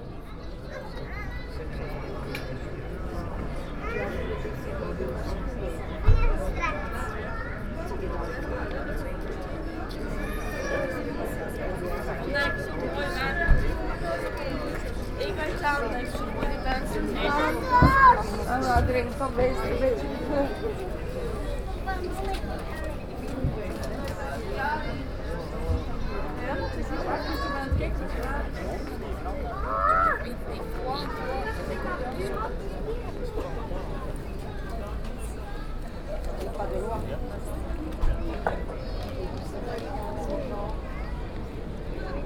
Old ladies talking 9.5 - 41.1

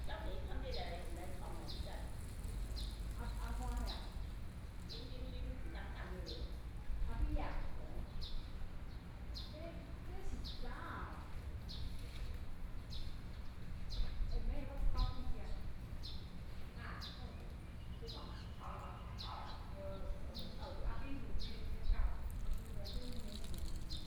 Birdsong 0.3 - 5.3
Birdsong 21.4 - 24.0

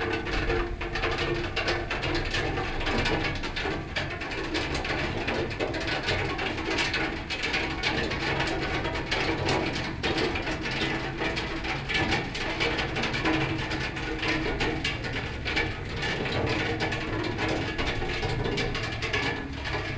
rain cascading off splash-boards 0.0 - 19.9

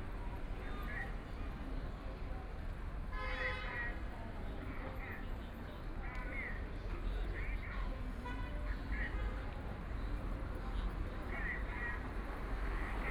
crowd 0.0 - 13.1
Traffic Sound 11.0 - 13.1

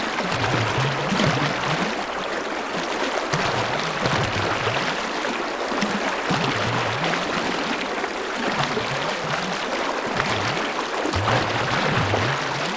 water 0.0 - 12.7

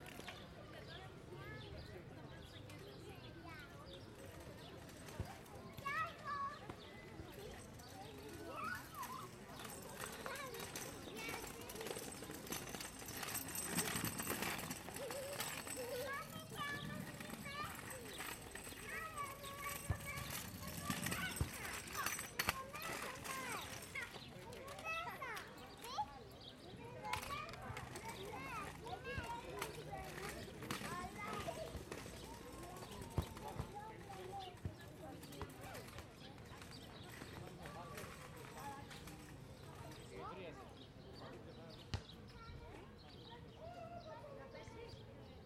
Kids playing 5.2 - 34.6

